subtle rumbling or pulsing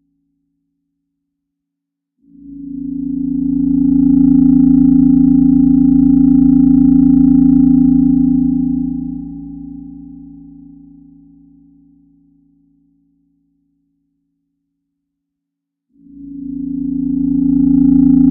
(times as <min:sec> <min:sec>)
0:02.5 0:12.2, 0:16.0 0:18.3